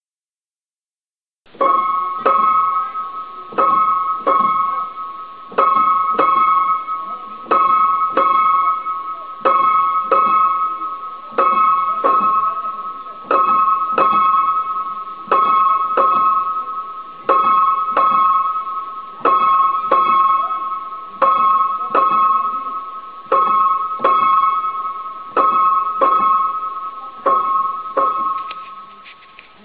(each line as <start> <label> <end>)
1.5 high notes in the same old piano 29.6